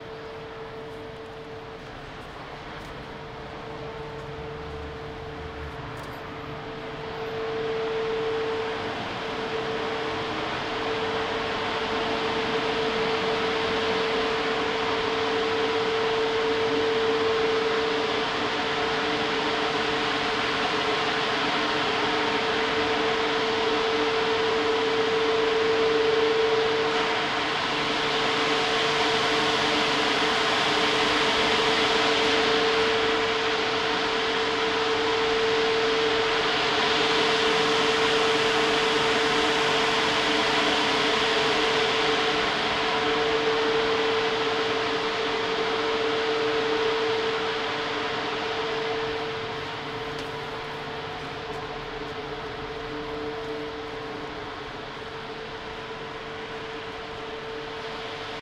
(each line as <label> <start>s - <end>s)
Big air extractor 0.0s - 58.4s